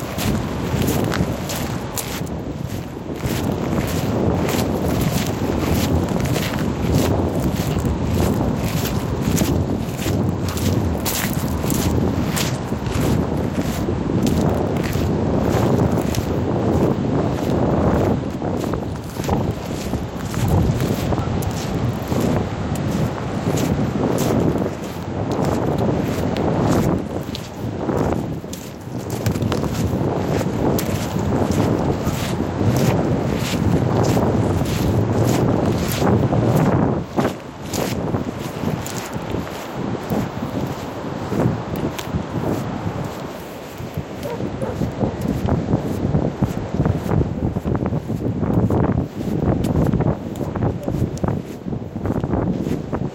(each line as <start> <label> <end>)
0.0 footsteps 53.0
0.0 wind 53.1